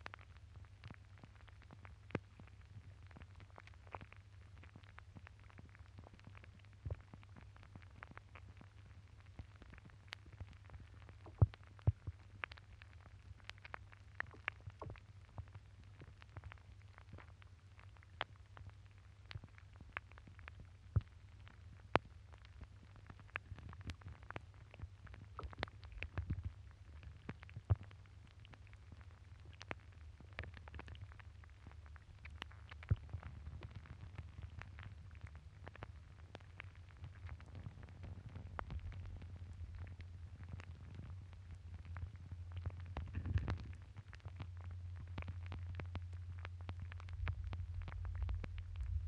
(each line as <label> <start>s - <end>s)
frozen water 19.2s - 49.0s